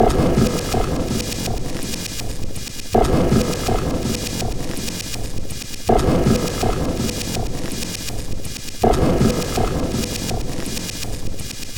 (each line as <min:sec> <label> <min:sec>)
0:00.0 Drum Loop 0:11.7